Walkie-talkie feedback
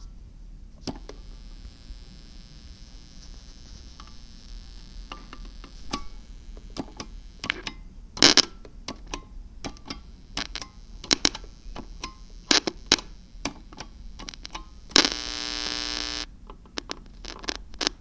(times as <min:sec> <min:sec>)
0:00.9 0:07.6, 0:08.2 0:08.5, 0:10.2 0:13.4, 0:14.1 0:16.3